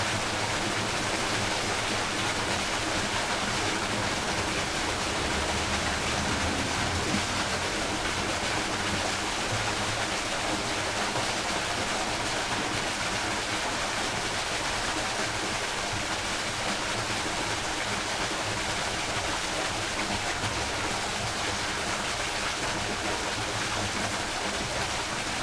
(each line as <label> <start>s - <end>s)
drainage into river 0.0s - 25.4s